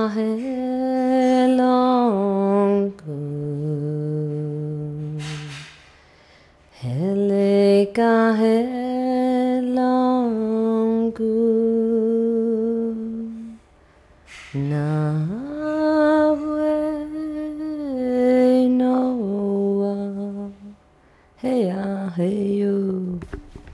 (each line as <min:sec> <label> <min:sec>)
0:00.0 Girl singing mantra song 0:05.8
0:06.7 Girl singing mantra song 0:13.6
0:14.5 Girl singing mantra song 0:20.8
0:21.4 Girl singing mantra song 0:23.4